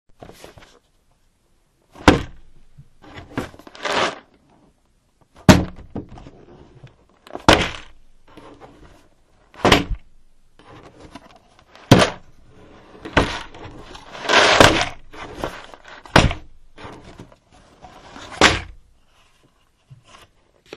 Jigsaw puzzle box full of pieces being dropped onto a table 0:11.8 - 0:12.2
Jigsaw puzzle box full of pieces being dropped onto a table 0:13.1 - 0:16.4

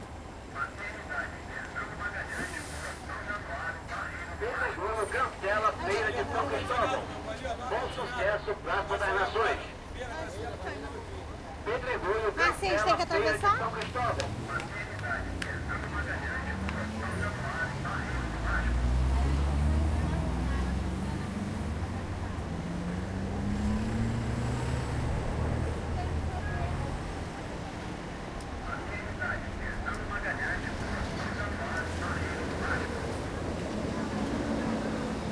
Prerecorded annoucements in vans 0:00.0 - 0:19.0
traffic 0:00.0 - 0:35.3
people 0:00.6 - 0:22.5
Prerecorded annoucements in vans 0:25.0 - 0:35.3

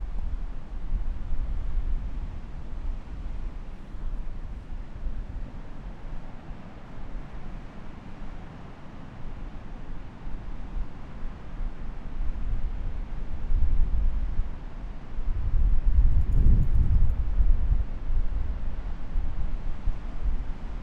wind 0:00.0 - 0:20.8
waves 0:02.1 - 0:15.3

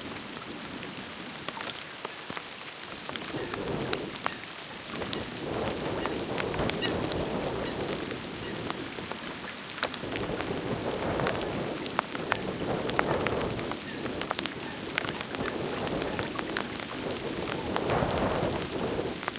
raindrops on the windscreen 0:00.0 - 0:19.3
wind rumble 0:04.9 - 0:09.1
wind rumble 0:09.9 - 0:19.3

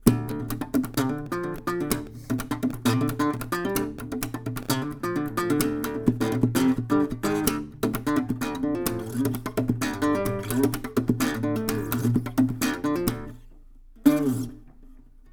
acoustic guitar slap 0:00.0 - 0:15.1

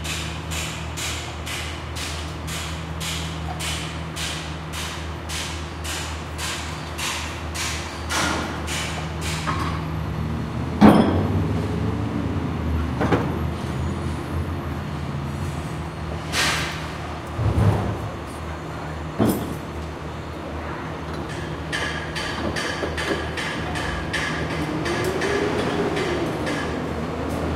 Condo Construction 0:00.0 - 0:27.5

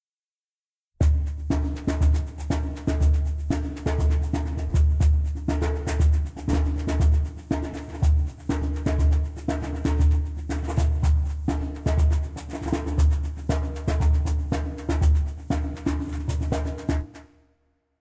Djembe Grooves 0:01.0 - 0:17.4

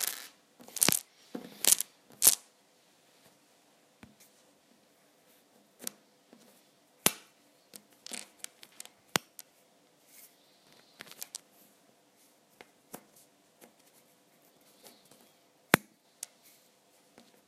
manipulating small wooden scrabble tiles 0:00.0 - 0:02.4
manipulating small wooden scrabble tiles 0:07.7 - 0:09.5
manipulating small wooden scrabble tiles 0:10.7 - 0:11.4

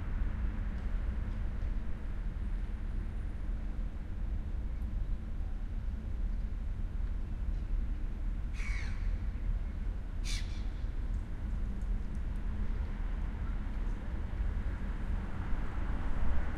bus is passing 0:09.9 - 0:16.5
cars passing 0:12.8 - 0:16.5

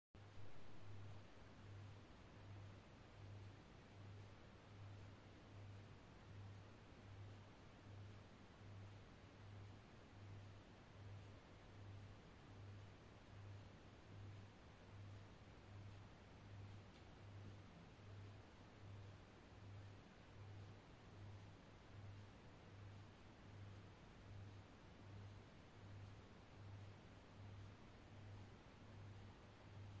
Ceiling fan 0:00.2 - 0:30.0

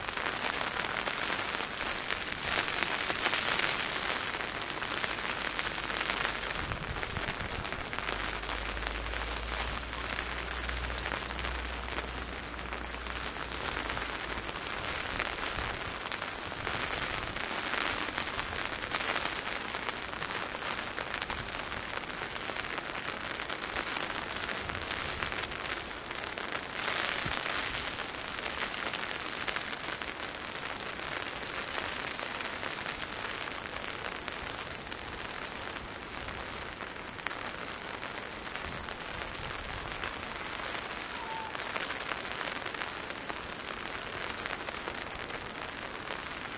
thin rain falling on my umbrella 0:00.0 - 0:46.5

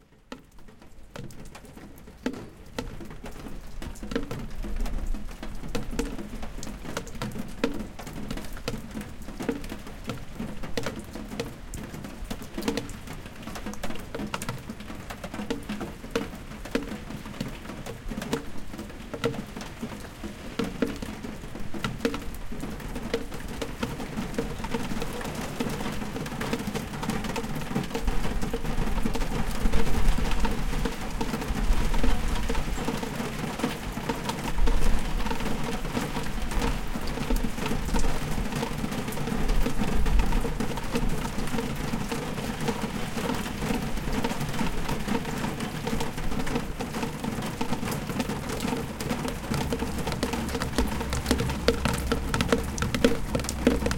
rain 0:00.0 - 0:53.9
drips 0:48.0 - 0:53.9

